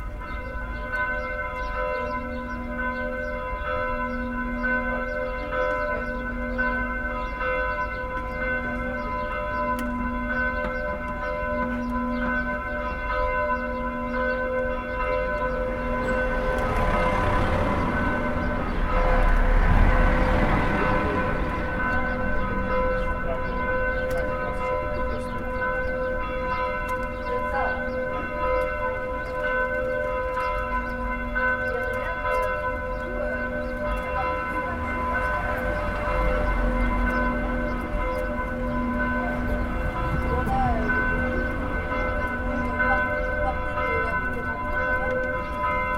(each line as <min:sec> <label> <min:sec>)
0:15.8 passage d'un groupe de motards 0:29.0
0:29.9 passage d'un groupe de motards 0:45.9